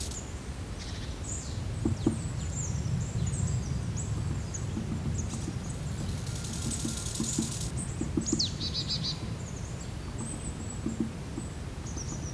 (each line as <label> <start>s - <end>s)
woodpecker 0.0s - 0.2s
crickets 0.0s - 0.2s
woodpecker 4.2s - 8.6s
crickets 5.3s - 7.7s